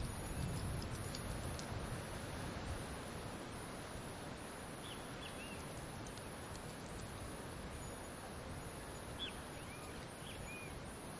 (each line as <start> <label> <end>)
0.0 birds 11.1
0.0 cicadas 11.1
0.0 wind 11.1